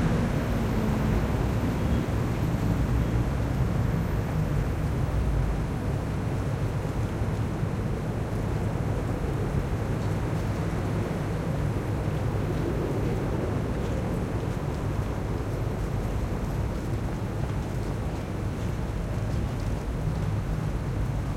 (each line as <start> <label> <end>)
0.0 trams 6.6
0.0 constant traffic 21.3